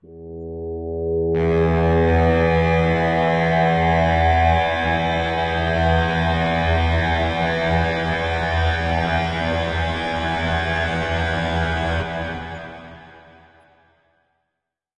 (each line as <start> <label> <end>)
0.1 Big full pad sound 13.4